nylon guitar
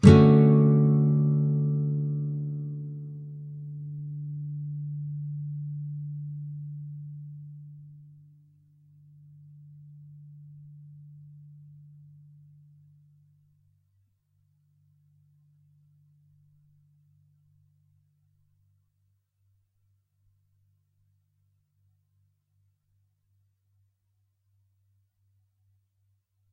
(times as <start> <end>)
0.0 8.4